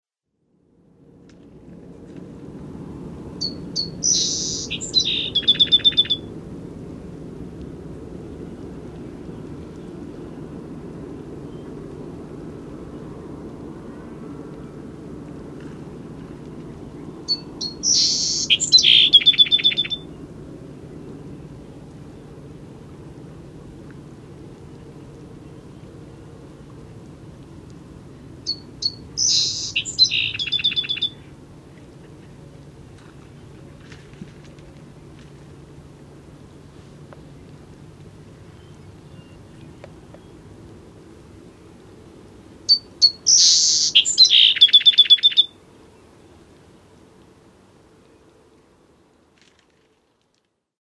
song sparrow 0:03.4 - 0:06.3
song sparrow 0:16.8 - 0:20.2
song sparrow 0:28.5 - 0:31.3
song sparrow 0:38.4 - 0:40.4
song sparrow 0:42.7 - 0:45.6

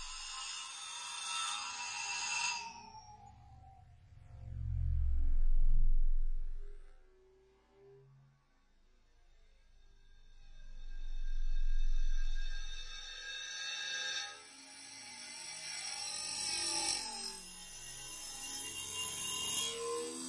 futuristic bassline 0:04.0 - 0:06.9

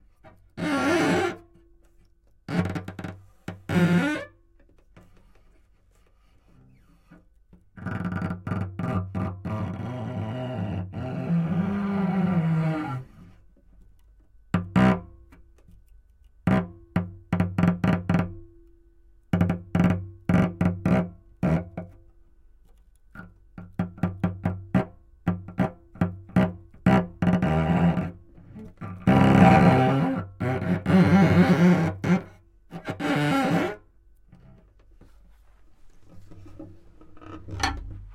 Cello 0:02.5 - 0:13.5
Cello 0:23.1 - 0:35.2

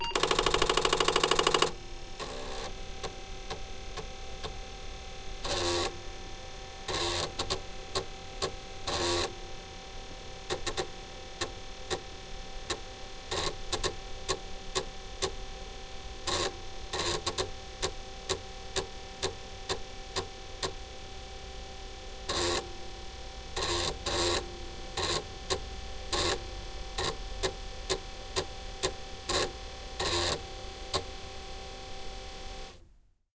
computer 0:00.0 - 0:02.7

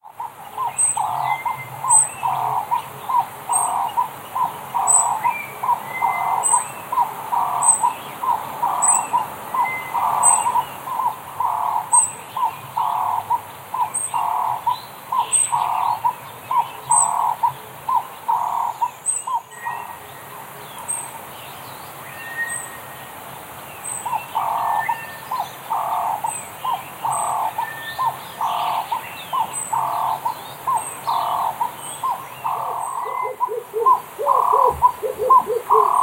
sunbird on backing vocals 0:23.8 - 0:36.0
turtle dove on solo 0:31.1 - 0:36.0

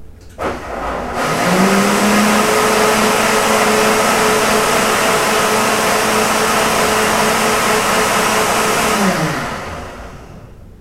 mixer 0:00.0 - 0:10.8

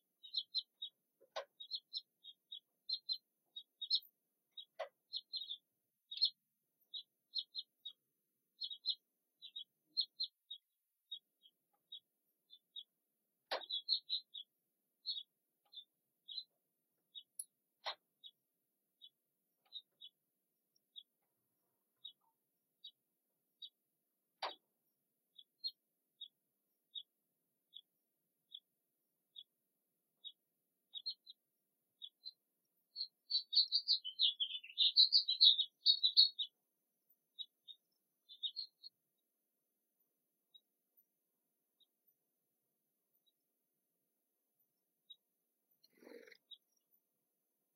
Sparse birdsong 0:00.0 - 0:47.7

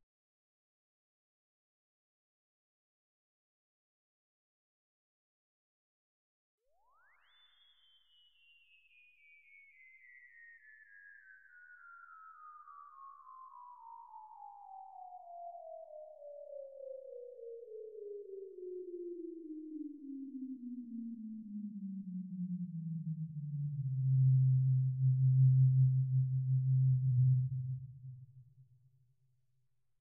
synth space ship landing 0:23.8 - 0:28.4

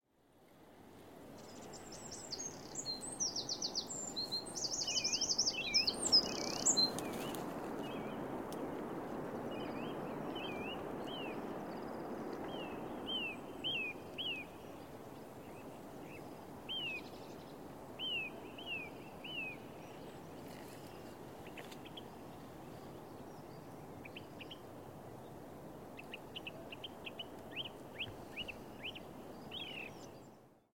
Birds singing 0:01.4 - 0:08.2
Birds singing 0:09.5 - 0:20.8
Birds singing 0:26.0 - 0:30.4

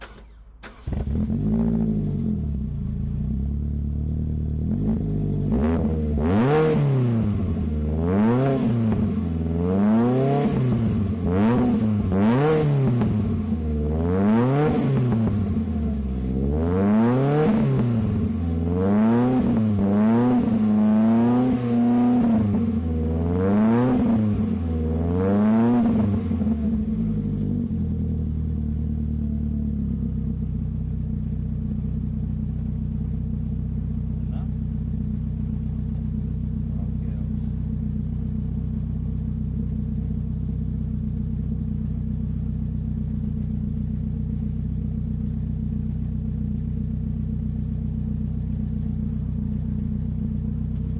Lotus Elise start rev idle 0:00.0 - 0:06.2
Lotus Elise start rev idle 0:25.9 - 0:50.9

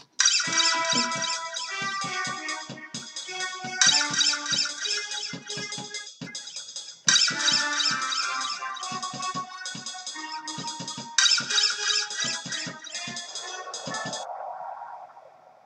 sampled percussion 0:00.0 - 0:14.3

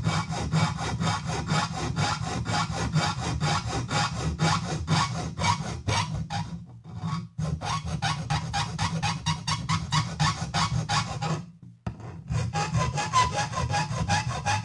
filing aluminium sheet 0:00.0 - 0:14.6

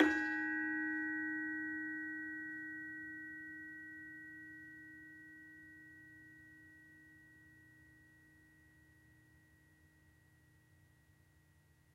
SARON 0:00.0 - 0:07.5

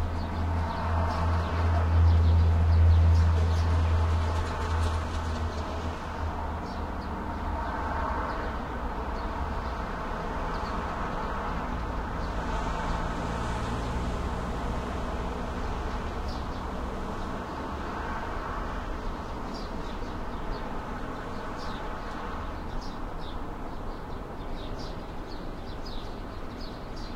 birds 0:00.0 - 0:14.0
traffic 0:00.0 - 0:27.1
birds 0:15.8 - 0:27.1

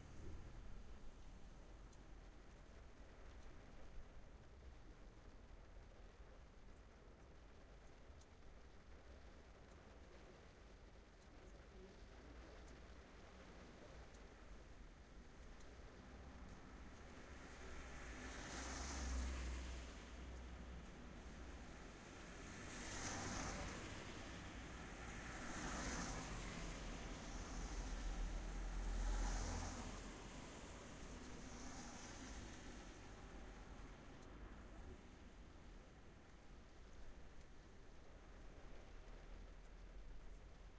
Wind 0:00.0 - 0:40.7
rain 0:00.0 - 0:40.7
traffic passing by 0:16.0 - 0:36.0

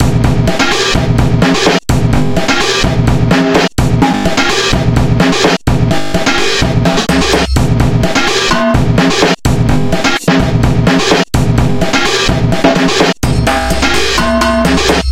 breakbeat 0:00.0 - 0:15.1

